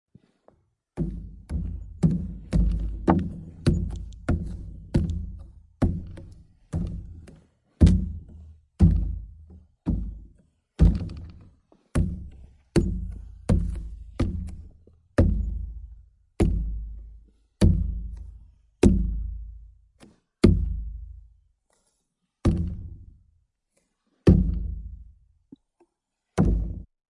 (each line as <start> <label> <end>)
0.1 pounding boots on a five-gallon plastic jug of water 21.2
22.4 pounding boots on a five-gallon plastic jug of water 23.2
24.2 pounding boots on a five-gallon plastic jug of water 25.6
26.4 pounding boots on a five-gallon plastic jug of water 26.9